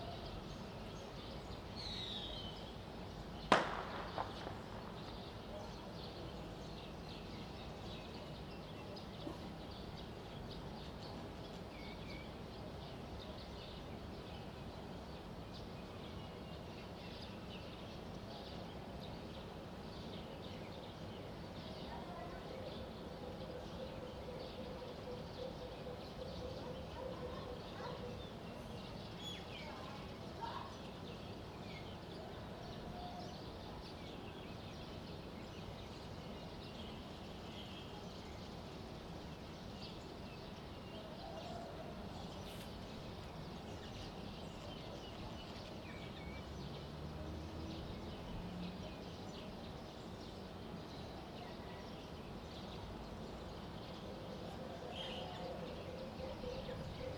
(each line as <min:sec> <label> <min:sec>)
0:46.3 Traffic sound 0:49.2